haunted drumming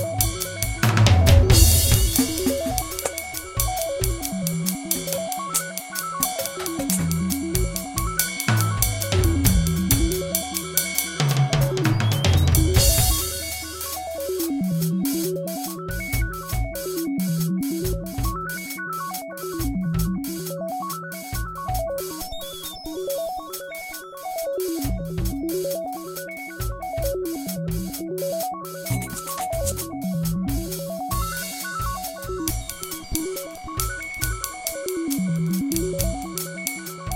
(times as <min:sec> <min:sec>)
0:00.0 0:17.0, 0:28.8 0:37.1